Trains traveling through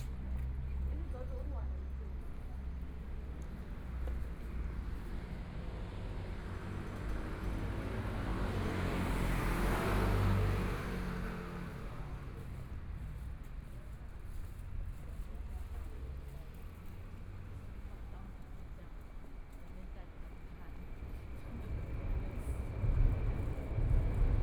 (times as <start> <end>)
20.1 24.4